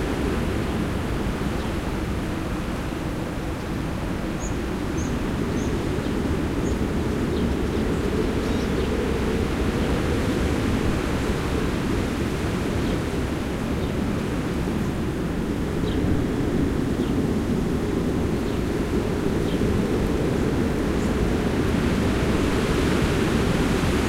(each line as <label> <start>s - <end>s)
storm of wind 0.0s - 24.0s
birds 4.2s - 15.1s